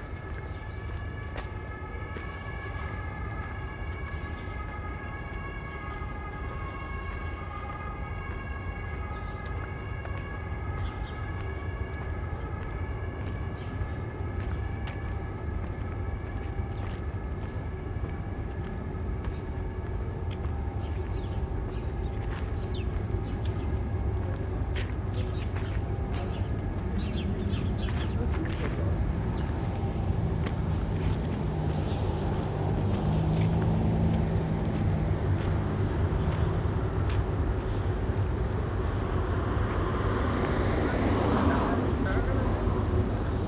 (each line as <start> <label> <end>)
0.0 traffic 43.4